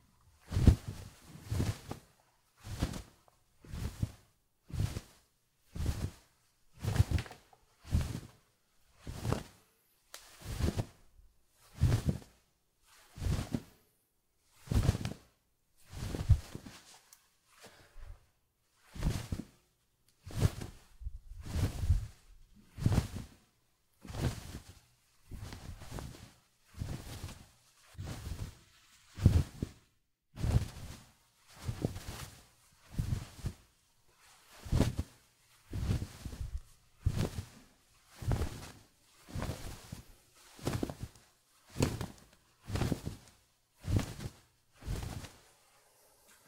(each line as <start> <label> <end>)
0.4 towel that is being flapped 9.6
10.2 towel that is being flapped 13.8
14.5 towel that is being flapped 15.3
15.9 towel that is being flapped 17.9
18.8 towel that is being flapped 19.6
20.2 towel that is being flapped 45.5